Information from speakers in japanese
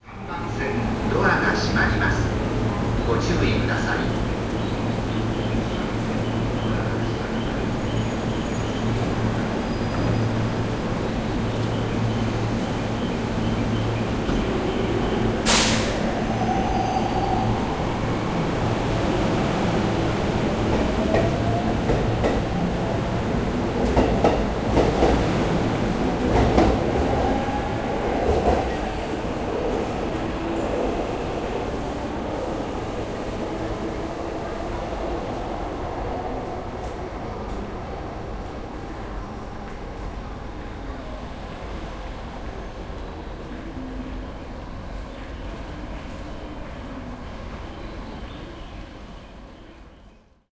0.0 4.3

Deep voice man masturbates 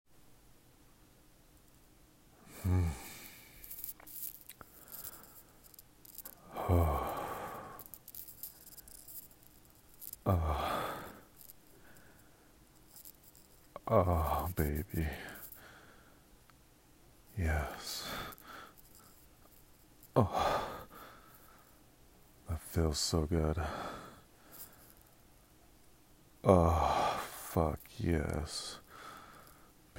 2.5 3.4, 6.4 8.0, 10.2 11.2, 13.8 15.4, 17.4 18.4, 20.2 20.9, 22.5 23.9, 26.4 28.8

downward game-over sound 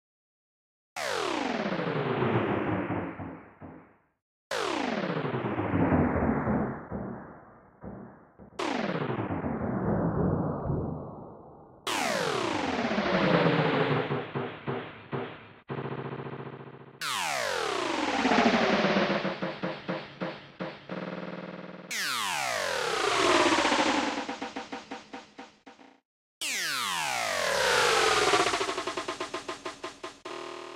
17.0 20.8, 21.9 30.2

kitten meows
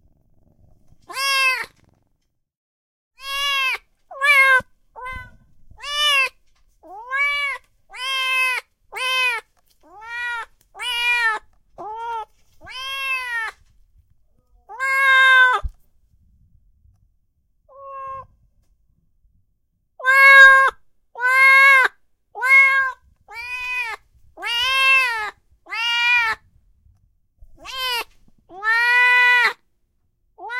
1.0 1.9, 3.2 13.6, 14.7 15.8, 17.7 18.3, 20.0 26.4, 27.6 29.6

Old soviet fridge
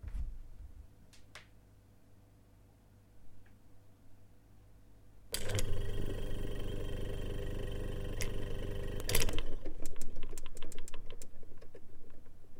5.3 12.5

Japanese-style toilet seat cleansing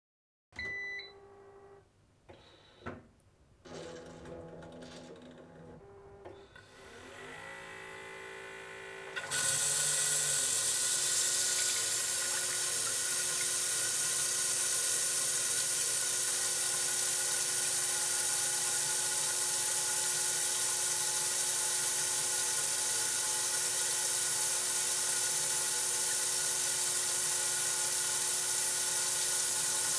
9.0 29.9

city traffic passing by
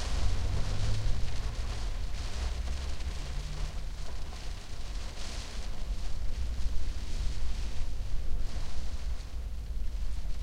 0.0 4.9

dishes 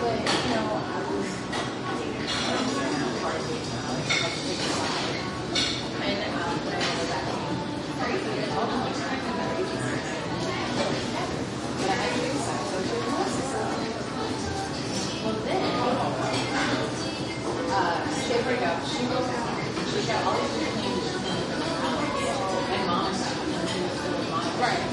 1.2 3.2, 3.9 6.0

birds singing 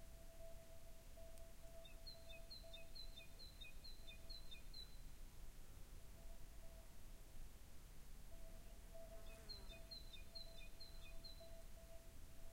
1.8 5.0, 9.2 11.6

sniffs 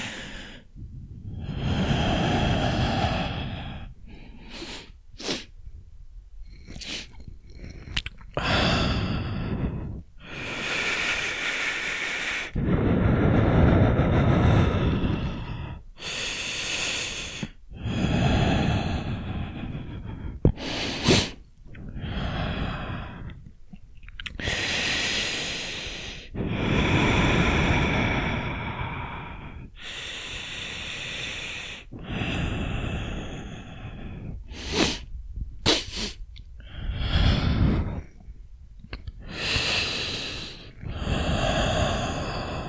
20.6 21.4, 34.5 36.2

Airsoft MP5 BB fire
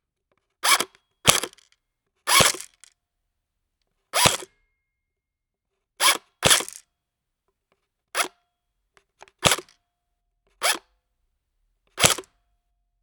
1.3 1.5, 2.3 2.7, 4.2 4.4, 6.4 6.8, 9.4 9.7, 12.0 12.3

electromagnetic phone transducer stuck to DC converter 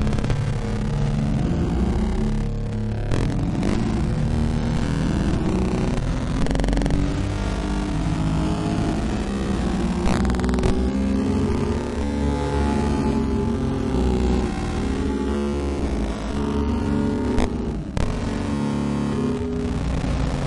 2.3 8.1, 8.8 12.1, 15.1 18.5

